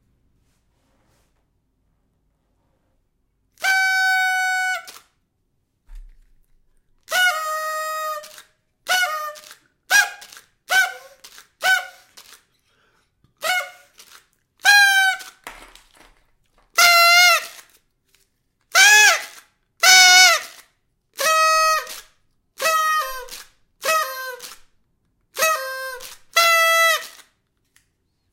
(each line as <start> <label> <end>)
16.7 party noisemaker 17.6